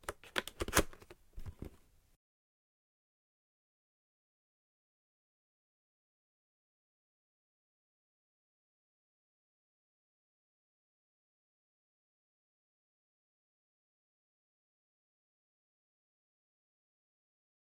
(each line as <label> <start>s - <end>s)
Closing the box 0.0s - 1.8s
Opening a new box 0.0s - 1.8s